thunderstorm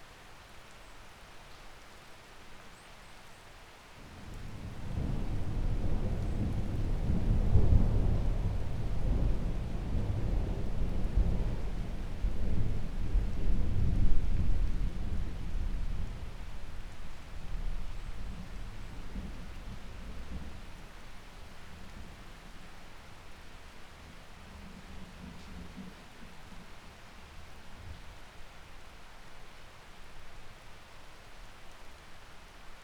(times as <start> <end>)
4.0 22.6